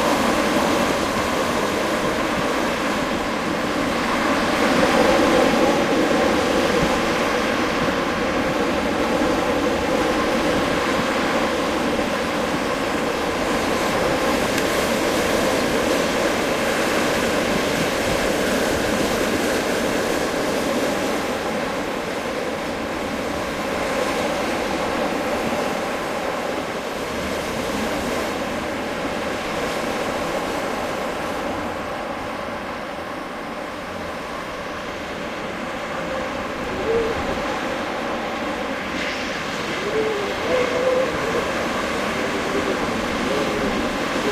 Winter Wind Mix 0.0 - 44.3

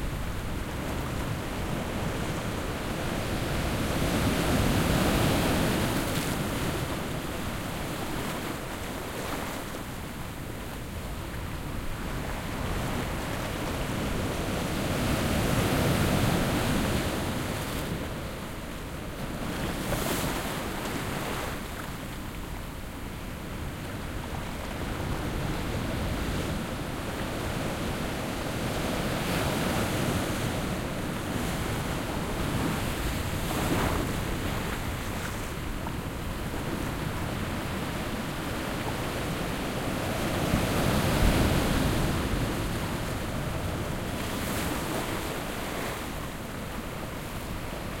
quiet to moderate waves on sand and rock beach 0.0 - 48.0

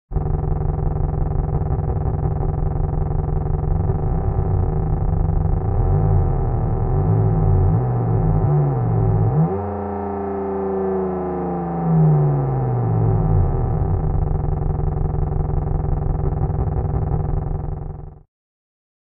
dragster idling and then revving 0.1 - 18.2

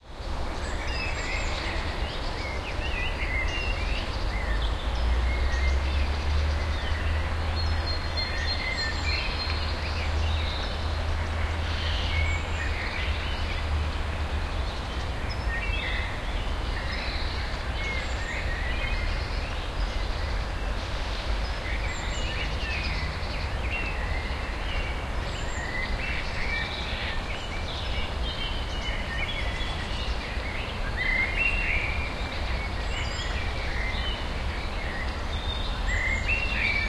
bird noises 0.0 - 36.8

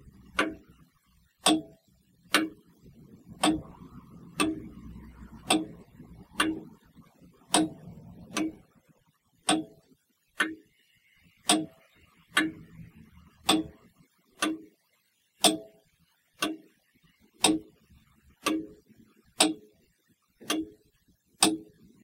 Grandfather Clock 0.0 - 14.8
Grandfather Clock 15.4 - 19.8
Grandfather Clock 20.4 - 22.0

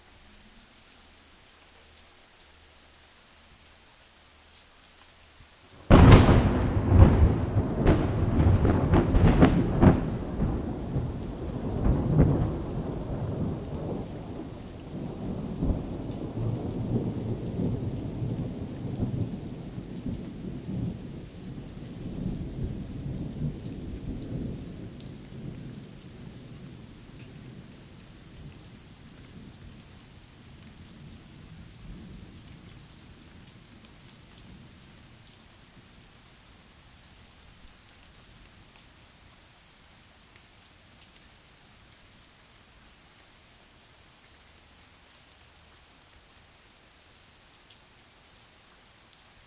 Massive thunderclap, rolling off into the distance 5.8 - 21.6

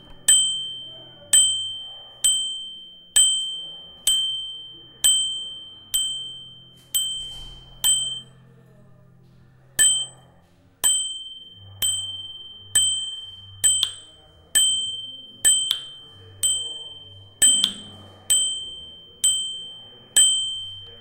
bell 0.0 - 8.5
bell 9.8 - 21.0

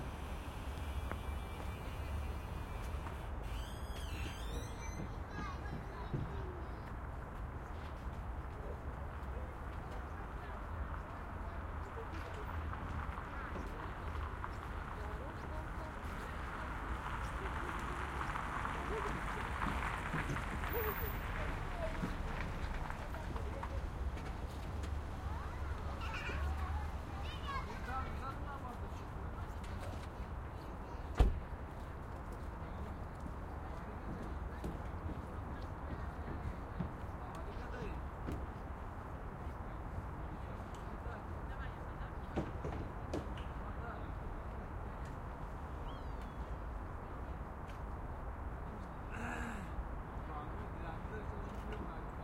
traffic 0.0 - 52.2
Metal gate squeak 1.3 - 5.1
Kids play 4.0 - 7.2
Kids play 25.2 - 28.8

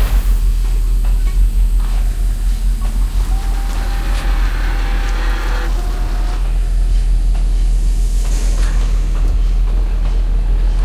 Machine 0.0 - 10.8

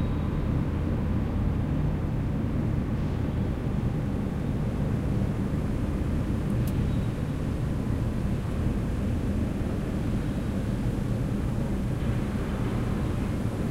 swoosh of machines in the background 0.0 - 13.7

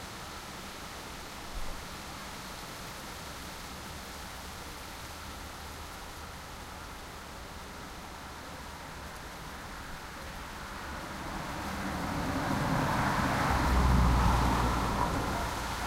cars passing me 8.2 - 15.8

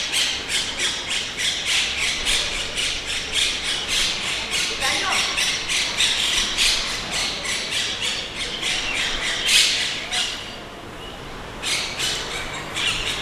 birds chirping 0.0 - 13.2
cars and motorbikes passing 1.8 - 13.2
people talking 4.2 - 5.5

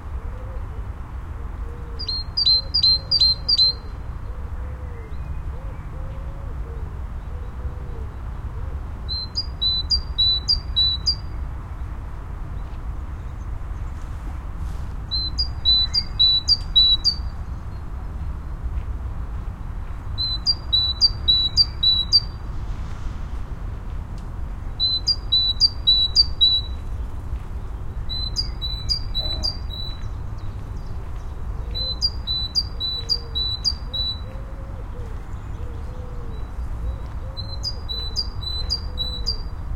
citysounds 0.0 - 39.7

